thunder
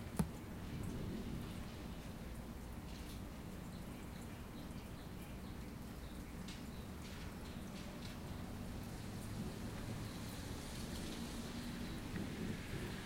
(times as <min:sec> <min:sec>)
0:10.9 0:13.0